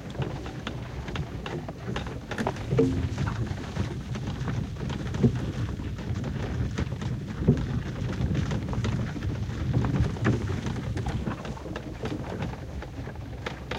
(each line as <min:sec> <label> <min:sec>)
0:00.0 Horsewagon 0:13.7